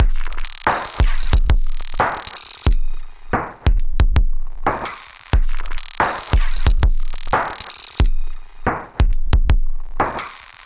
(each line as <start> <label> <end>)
0.0 destroyed and reassembled beats 10.6